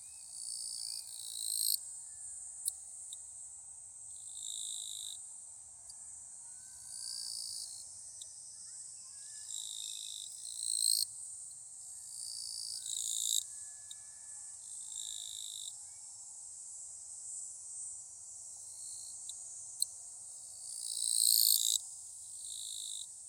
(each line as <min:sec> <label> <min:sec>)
0:08.5 Children Play in the Distance 0:09.8